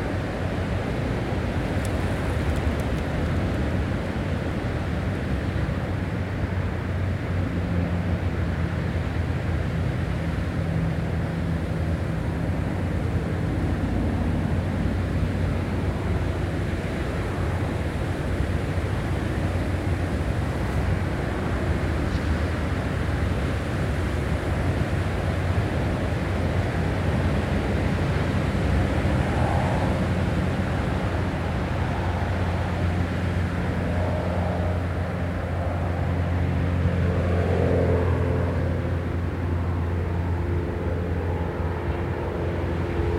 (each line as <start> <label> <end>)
0.0 aircraft 43.1
0.0 motorway, engine 43.1